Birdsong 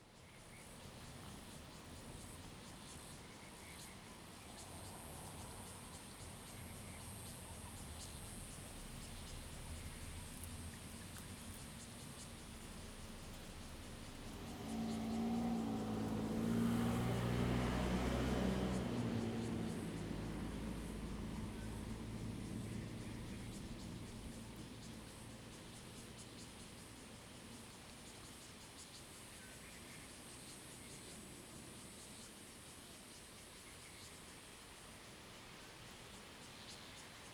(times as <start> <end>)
8.0 26.8